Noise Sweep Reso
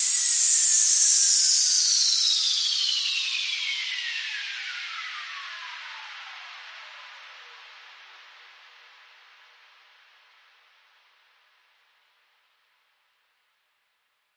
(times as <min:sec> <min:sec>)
0:00.0 0:05.4